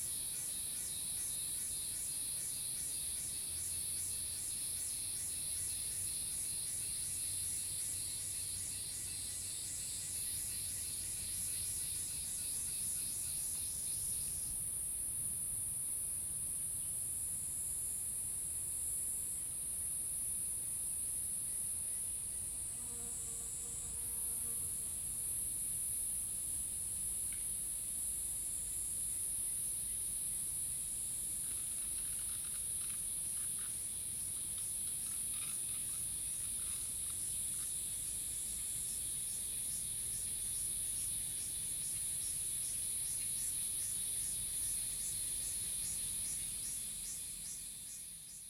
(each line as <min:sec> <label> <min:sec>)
0:00.0 Cicadas called 0:48.4